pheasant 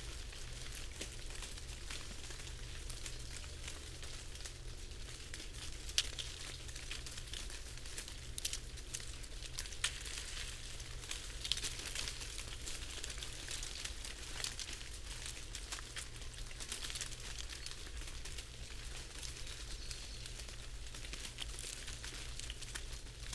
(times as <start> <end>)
19.1 20.8